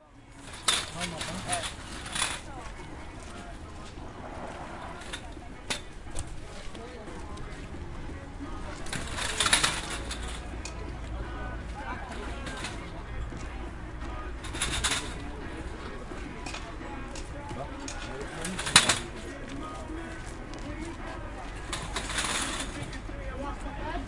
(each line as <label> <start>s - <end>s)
folding a stall 0.0s - 24.0s
hubbub 0.0s - 24.0s